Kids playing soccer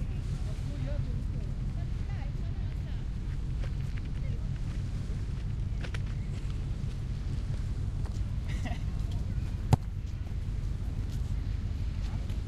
8.0s 12.4s

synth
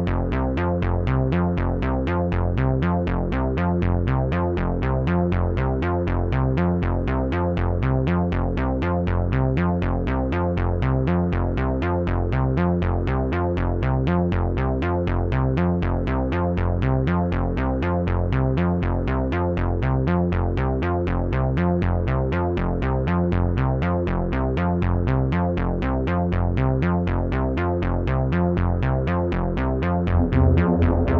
29.8s 31.1s

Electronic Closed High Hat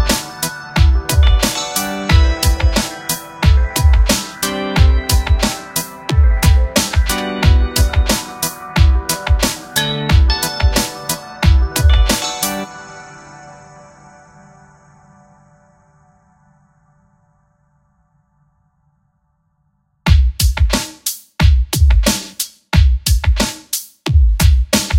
0.0s 12.6s

